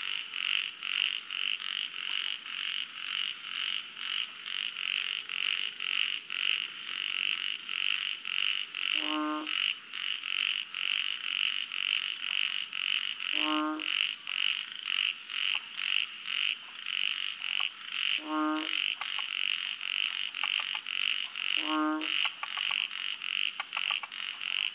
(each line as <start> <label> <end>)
0.4 Chorus of three species of frogs 24.7